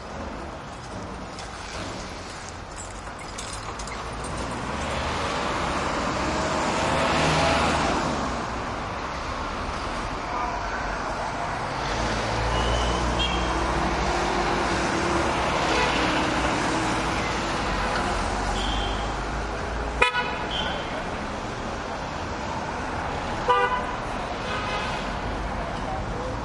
traffic heavy 0:00.0 - 0:26.4
loud horn honks 0:20.0 - 0:20.8
loud horn honks 0:23.4 - 0:24.9

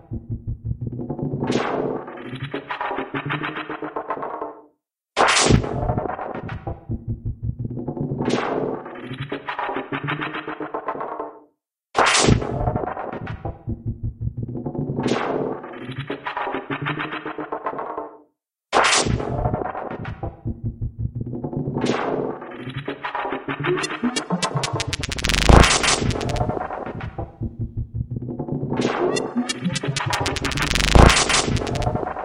vocoder 0:23.8 - 0:26.6
vocoder 0:29.1 - 0:32.0

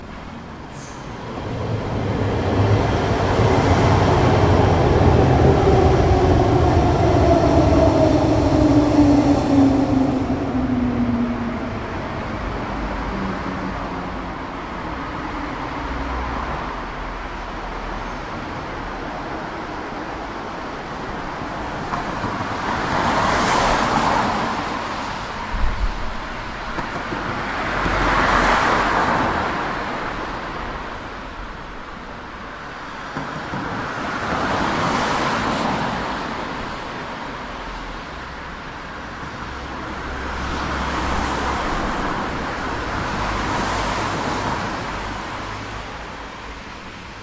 traffic 0:00.0 - 0:47.2
train 0:00.0 - 0:47.2
tram 0:00.0 - 0:47.2

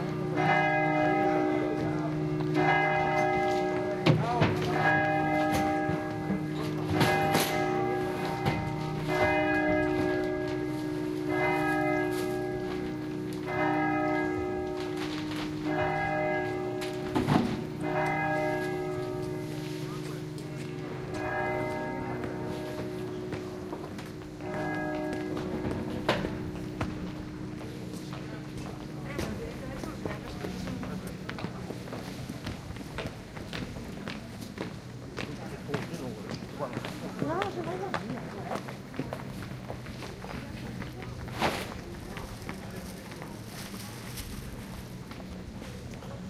church bell close by starts to ring 0:00.0 - 0:32.6
Distant churchbells are ringing 0:00.0 - 0:46.2
People are passing by 0:00.0 - 0:46.2

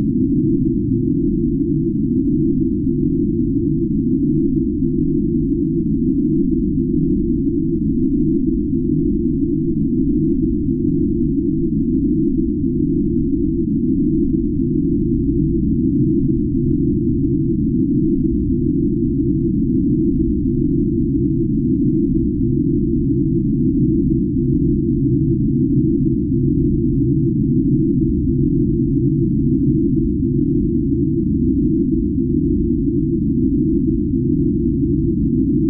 deep drone-like noise 0:00.0 - 0:35.6

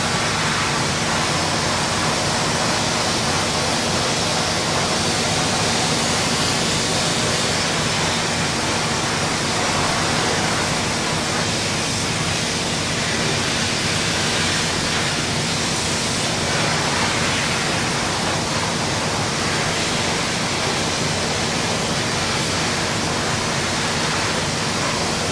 noisy industrial factory 0:00.0 - 0:25.3

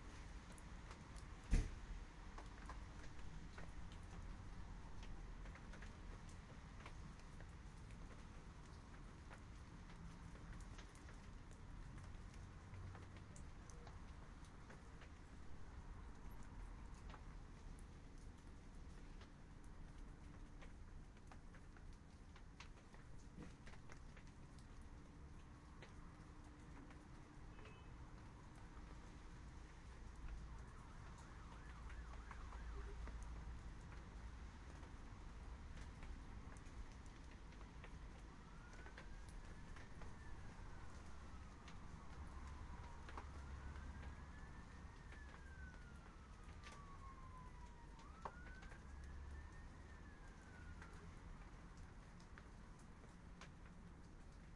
Rain 0:00.0 - 0:54.5

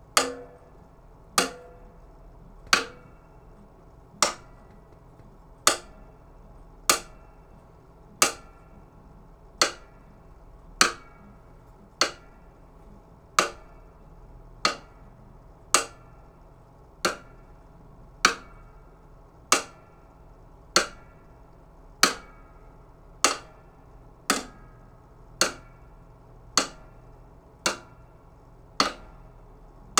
Snare drum rim hits 0:00.2 - 0:00.7
Snare drum rim hits 0:01.4 - 0:01.9
Snare drum rim hits 0:02.7 - 0:03.1

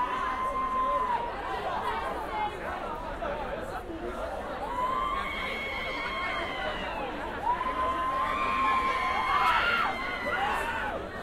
cheering 0:00.0 - 0:01.6
crowd 0:00.0 - 0:11.2
cheering 0:04.6 - 0:11.2
screaming 0:04.7 - 0:11.0

